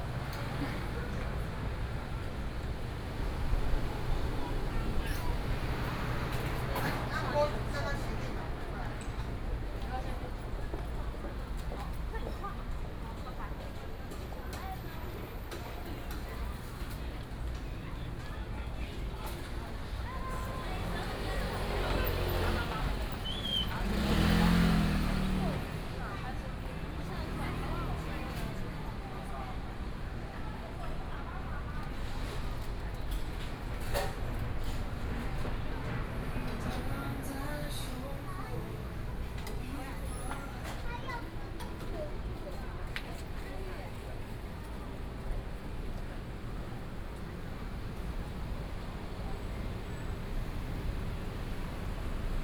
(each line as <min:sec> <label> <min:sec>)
0:00.0 Traffic noise 0:52.4
0:00.0 walking in the Street 0:52.4